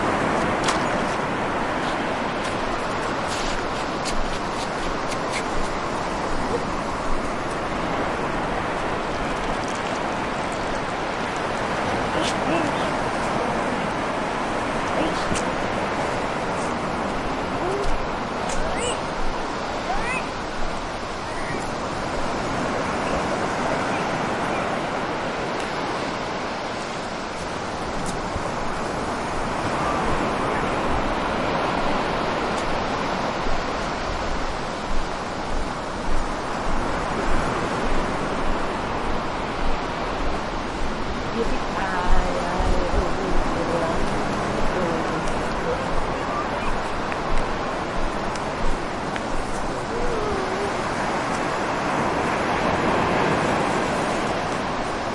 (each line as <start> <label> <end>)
0.0 waves 55.1
18.5 child 19.0
19.8 child 20.3